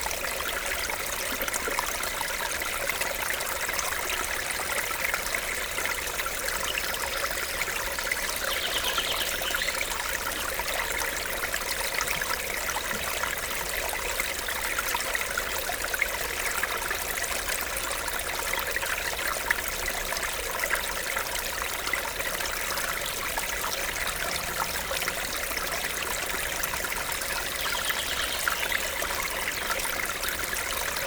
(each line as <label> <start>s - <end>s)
small stream 0.0s - 31.0s
birds 7.8s - 10.6s
birds 23.4s - 31.0s